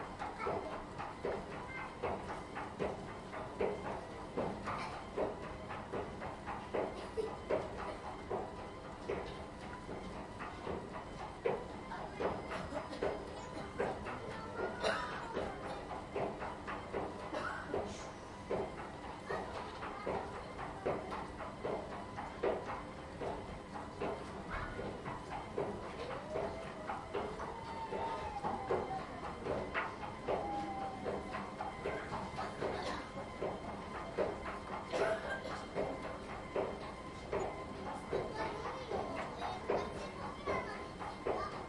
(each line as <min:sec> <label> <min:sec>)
0:00.0 Noisy escalator 0:41.6